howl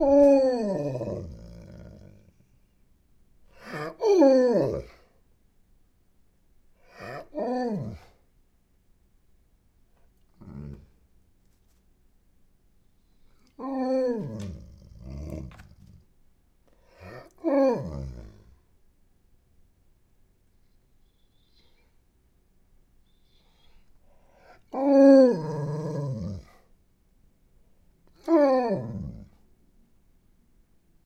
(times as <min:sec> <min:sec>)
0:00.0 0:02.3, 0:03.6 0:05.1, 0:06.9 0:08.2, 0:13.6 0:15.9, 0:17.0 0:18.6, 0:24.6 0:26.6, 0:28.1 0:29.4